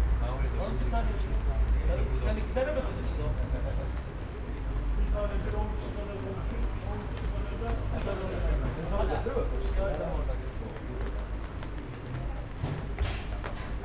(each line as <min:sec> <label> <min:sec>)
0:00.2 people talking 0:13.8